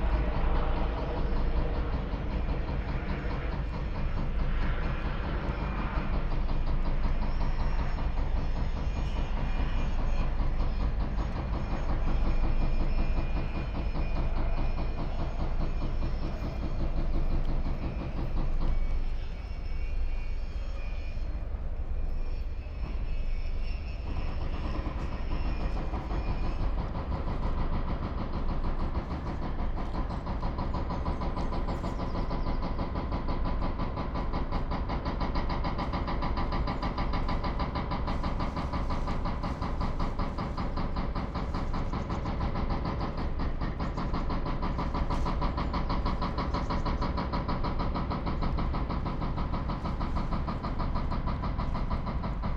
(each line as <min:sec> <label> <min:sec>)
0:00.0 helicopter 0:52.5
0:21.3 heavy deconstruction work 0:52.5